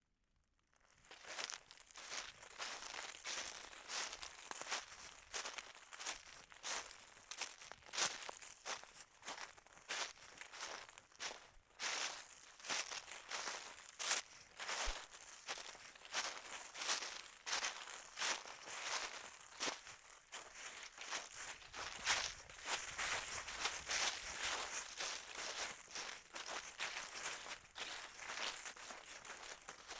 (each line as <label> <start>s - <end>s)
Footsteps through leaves from a slow walk to a fast pace 1.0s - 29.9s